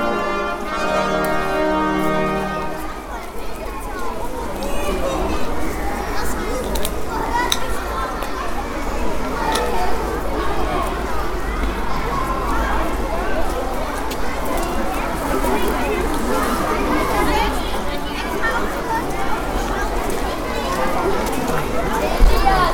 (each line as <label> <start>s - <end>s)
brass music 0.0s - 3.2s